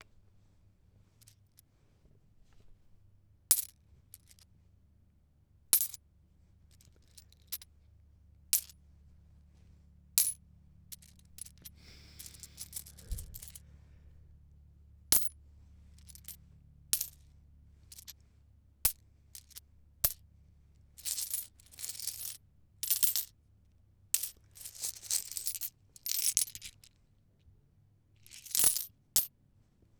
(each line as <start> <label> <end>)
11.8 breathing noises 14.3